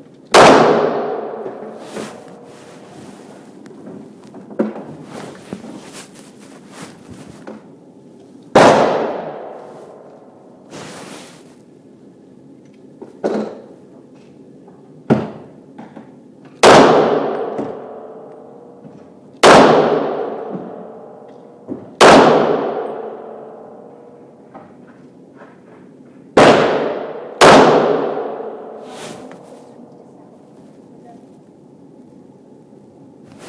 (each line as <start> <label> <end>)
0.4 Various handguns being shot 2.2
8.5 Various handguns being shot 10.1
16.6 Various handguns being shot 18.3
19.4 Various handguns being shot 21.0
22.0 Various handguns being shot 23.6
26.4 Various handguns being shot 28.8